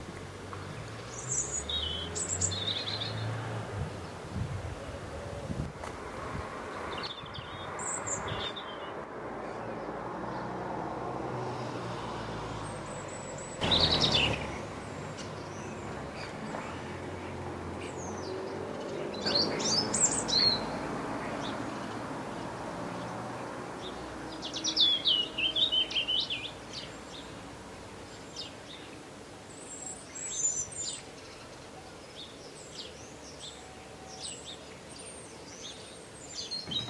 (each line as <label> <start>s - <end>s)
passing car 0.1s - 27.9s
bird singing 0.6s - 5.0s
bird singing 6.8s - 10.5s
bird singing 12.6s - 22.4s
bird singing 23.8s - 36.8s